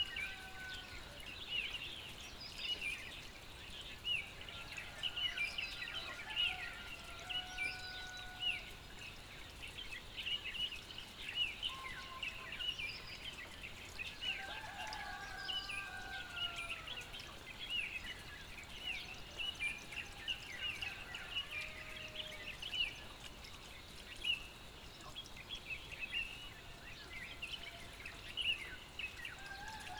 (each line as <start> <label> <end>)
5.8 crowing of roosters 8.6
14.3 crowing of roosters 17.1
20.1 crowing of roosters 22.6
29.4 crowing of roosters 29.9